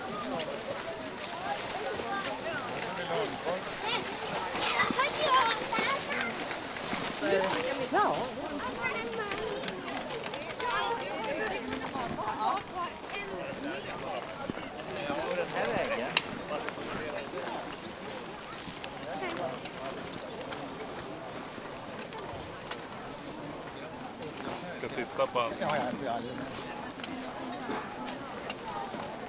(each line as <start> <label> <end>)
0.0 children 15.6